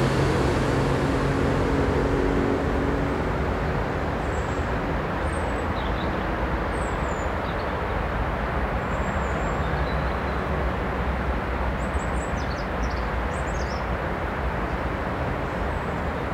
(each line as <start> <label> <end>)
0.0 truck 7.6
0.0 highway 16.3
0.0 metro 16.3
0.0 river 16.3
0.0 wind in trees 16.3